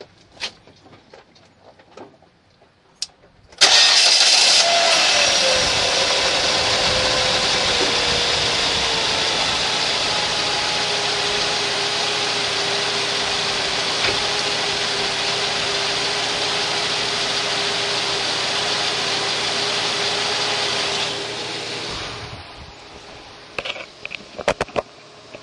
0.0s engine 25.4s
3.6s starter 25.4s
5.3s abnormal wind noise 10.5s
21.8s abnormal wind noise 23.4s

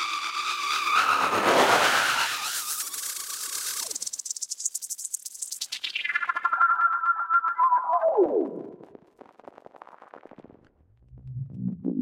11.0s Frequency and filter sweeps 12.0s

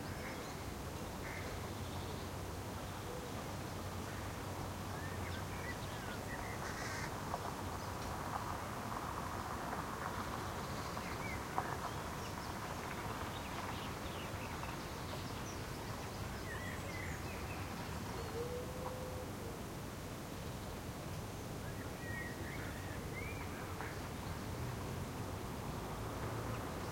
0.0s Birds are singing 8.2s
0.0s light wind is whistling in the trees 26.9s
10.1s Birds are singing 19.2s
20.5s Birds are singing 24.6s

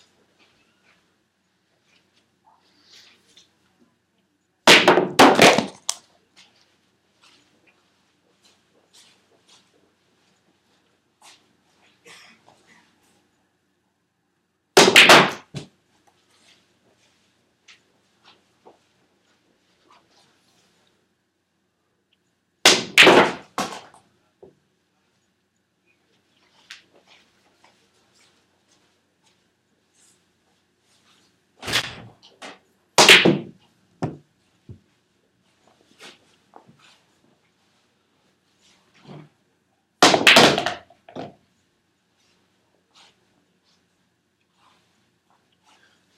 4.7s shooting the balls into the pockets 6.0s
14.8s shooting the balls into the pockets 15.7s
22.7s shooting the balls into the pockets 23.9s
33.0s shooting the balls into the pockets 34.2s

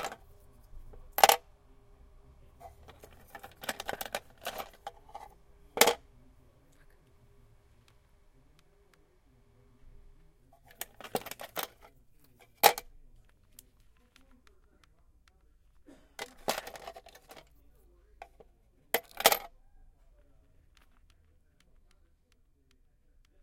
1.1s dropping heavy metal pieces in a plastic box 1.4s
2.6s dropping heavy metal pieces in a plastic box 5.2s
5.8s dropping heavy metal pieces in a plastic box 6.0s
10.7s dropping heavy metal pieces in a plastic box 11.8s
16.2s dropping heavy metal pieces in a plastic box 17.4s
19.0s dropping heavy metal pieces in a plastic box 19.5s

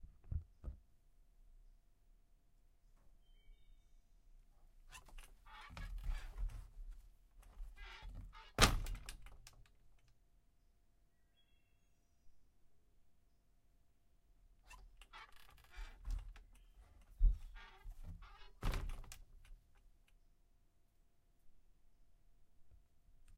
4.9s squeaky screen door shutting 6.5s
7.5s squeaky screen door shutting 9.5s
14.7s squeaky screen door shutting 19.2s

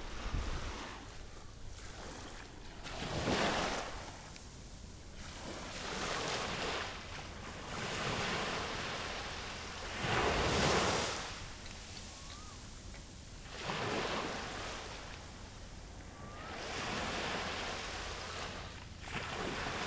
0.0s Waves 19.8s

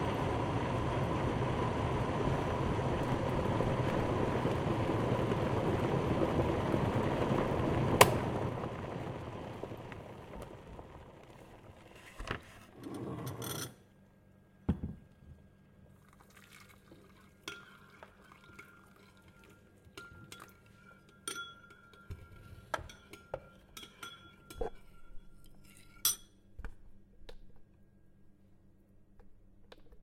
0.0s water 12.7s
15.8s water 23.0s

